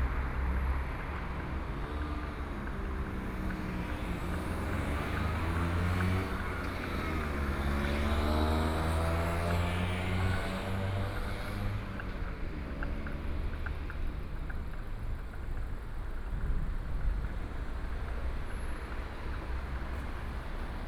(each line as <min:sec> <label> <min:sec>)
0:00.0 Traffic Sound 0:20.8
0:00.0 Walking on the streets 0:20.8